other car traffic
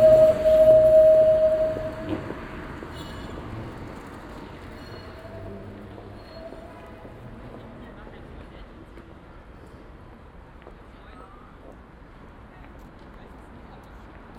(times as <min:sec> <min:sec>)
0:00.0 0:07.2